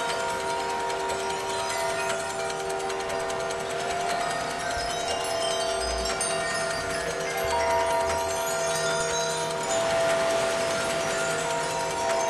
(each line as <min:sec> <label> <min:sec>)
0:00.0 bells 0:12.2
0:00.0 clock 0:12.2
0:00.0 wind chimes 0:12.2